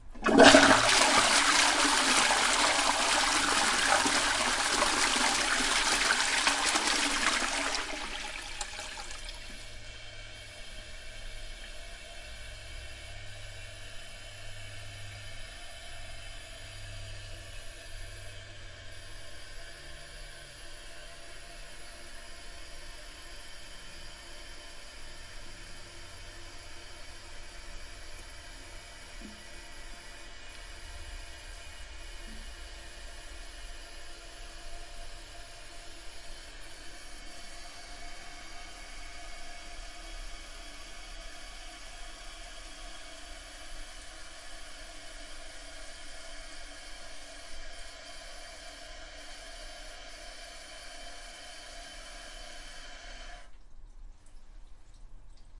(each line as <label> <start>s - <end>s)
Toilet Flush 0.0s - 11.9s
Toilet Flush 33.2s - 53.6s